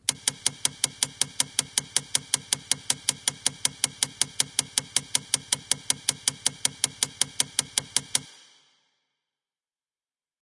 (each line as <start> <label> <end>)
0.0 constant Clicking Noise 8.3